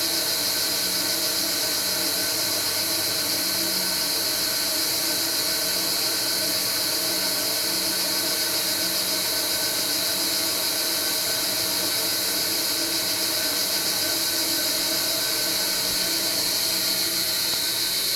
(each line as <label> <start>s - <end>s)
huge water cistern 0.0s - 18.1s